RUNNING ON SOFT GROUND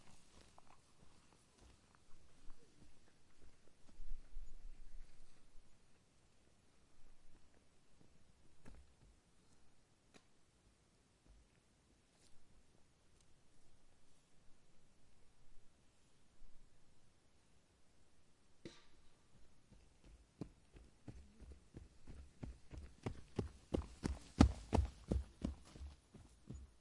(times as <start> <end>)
0.0 5.6, 7.0 9.7, 19.3 26.8